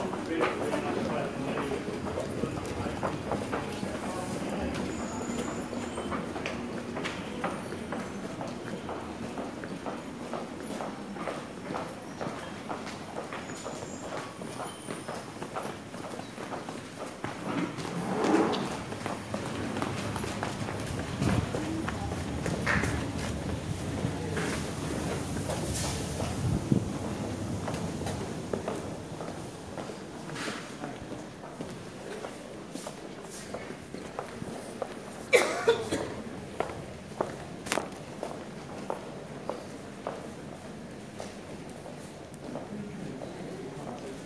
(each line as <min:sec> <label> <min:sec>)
0:00.0 Doors of the train close 0:32.2
0:00.0 train finally arrives 0:35.1
0:00.0 train departs 0:44.2